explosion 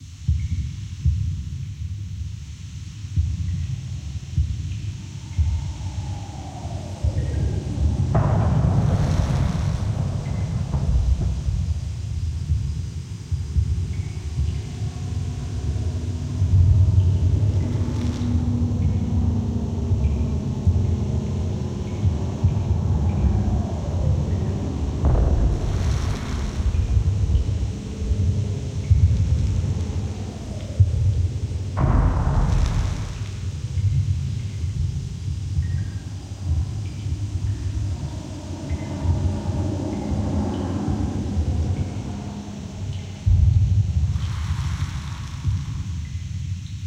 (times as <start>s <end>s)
5.1s 14.5s, 22.6s 35.3s